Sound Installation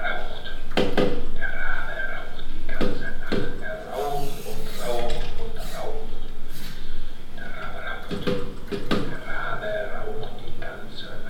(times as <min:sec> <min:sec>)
0:03.8 0:08.6